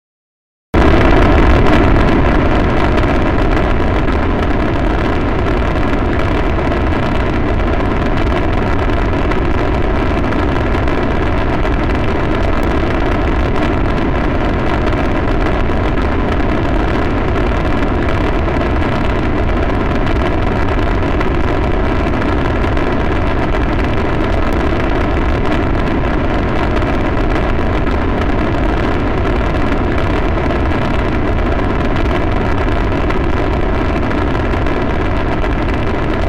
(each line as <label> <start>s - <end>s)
Space Shuttle Launch 0.8s - 36.2s